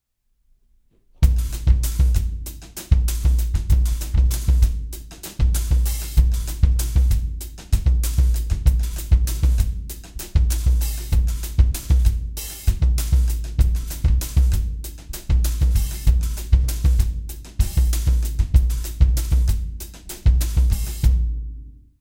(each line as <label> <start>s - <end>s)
drum loops 1.2s - 21.1s